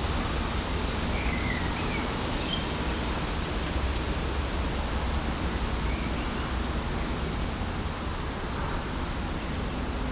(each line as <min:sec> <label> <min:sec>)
0:00.0 gushy wind in the trees 0:10.1